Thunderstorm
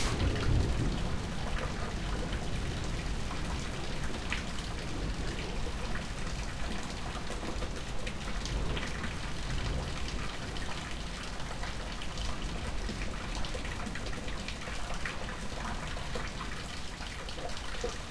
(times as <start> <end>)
0.0 7.6